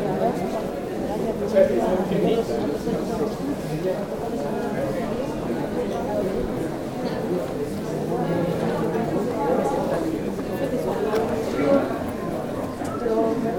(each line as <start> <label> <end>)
0.0 tourists 13.5
6.6 Guided tour 13.5